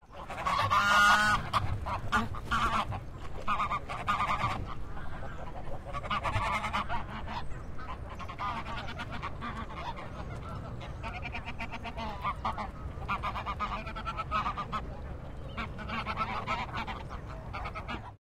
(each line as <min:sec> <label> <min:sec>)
0:00.1 Hyped duck 0:18.2